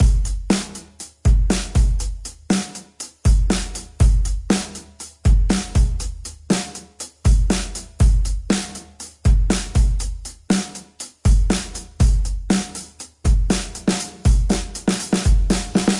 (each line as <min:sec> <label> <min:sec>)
0:00.0 hat 0:15.9
0:02.5 snare 0:03.8
0:04.5 snare 0:05.7
0:06.5 snare 0:06.9
0:08.5 snare 0:09.0
0:10.5 snare 0:11.8